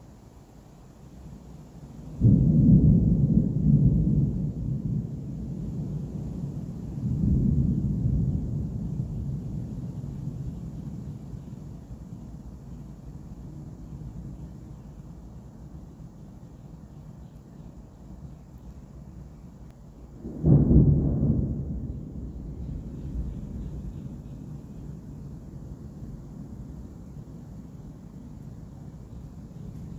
Thunder, Booms, Rumbles 0:02.2 - 0:11.5
Thunder, Booms, Rumbles 0:20.2 - 0:27.4

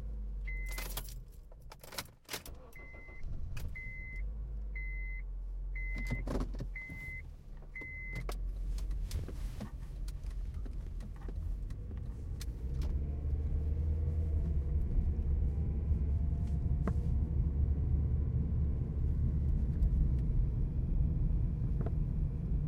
car starts 0:00.0 - 0:05.0
driving 0:00.0 - 0:22.6
trunk 0:00.0 - 0:22.6
car doors 0:05.9 - 0:09.8

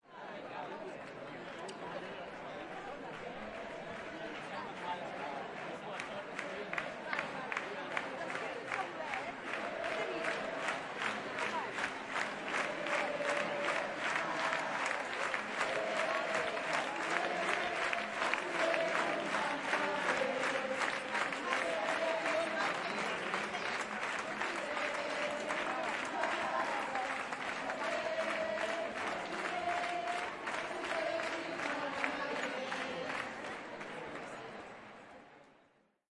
talking in Catalan 0:00.0 - 0:35.6
people singing 0:12.5 - 0:33.3

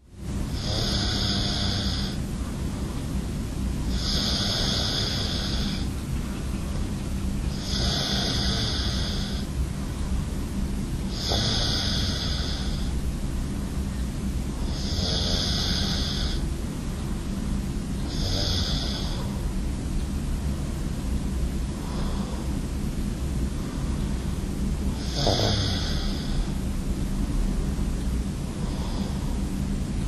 Moving while I sleep 0:00.0 - 0:30.0
breath 0:21.8 - 0:22.6
breath 0:28.6 - 0:29.5

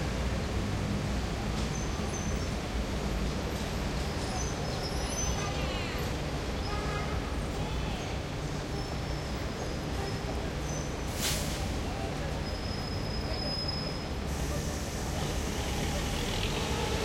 traffic 0:00.0 - 0:17.0

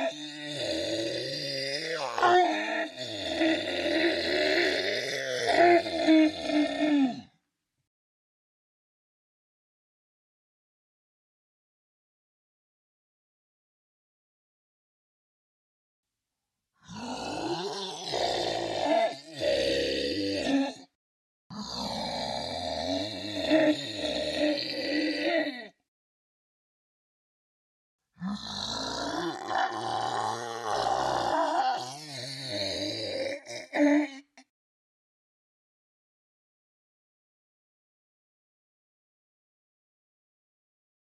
growl 0:00.0 - 0:07.3
growl 0:16.8 - 0:25.8
growl 0:28.2 - 0:34.4

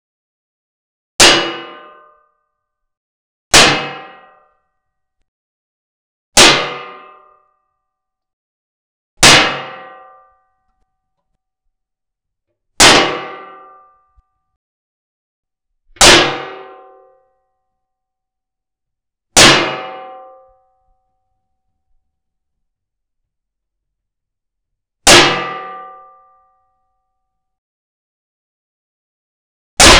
metal hits sounds with dull ringouts 0:09.2 - 0:10.2
metal hits sounds with dull ringouts 0:12.8 - 0:14.0

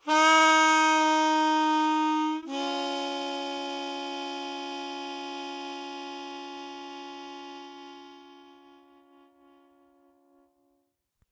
Harmonica 0:00.0 - 0:10.1

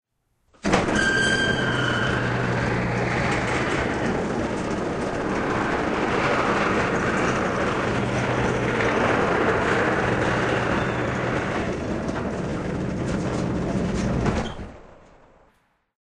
warehouse door open 0:00.6 - 0:04.9

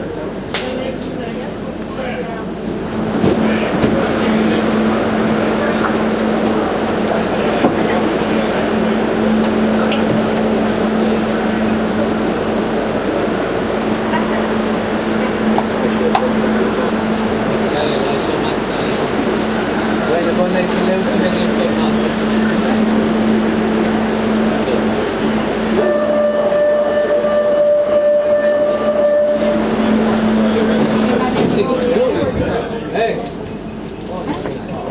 People talking 0:00.0 - 0:34.9
Subway train sounds 0:00.0 - 0:34.9
Acoustic signals 0:02.9 - 0:32.2

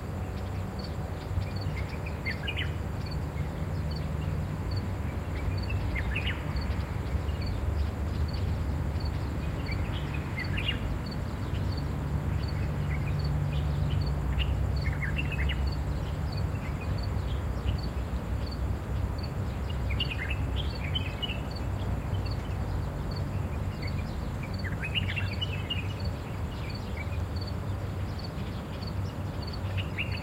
birdsong 0:00.0 - 0:30.2

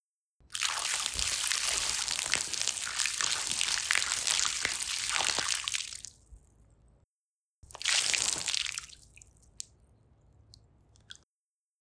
Pour liquid over a puddle 0:00.5 - 0:06.8
Pour liquid over a puddle 0:07.6 - 0:11.2

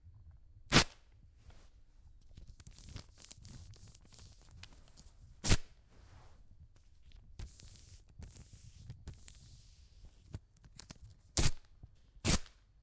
woman waxing her legs 0:02.3 - 0:05.1

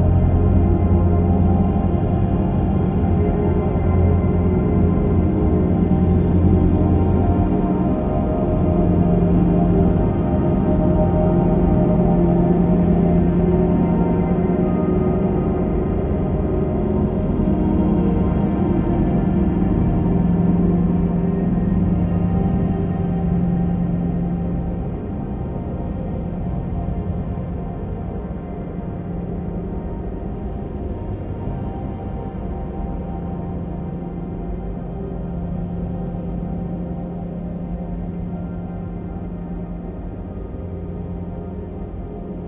slowly evolving dreamy ambient drone pad 0:00.0 - 0:42.4

